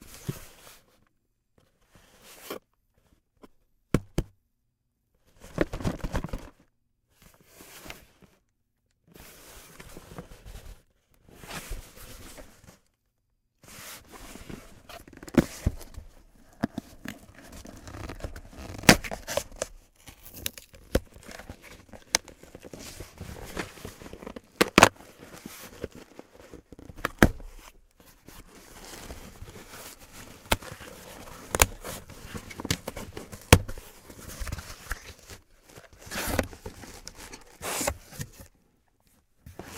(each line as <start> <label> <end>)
5.4 opening a box 6.6
13.6 Rustling items around 39.7
14.0 opening a box 38.5
15.1 Pulling out the plastic air pouches 27.6
17.3 Ripping the package open 22.6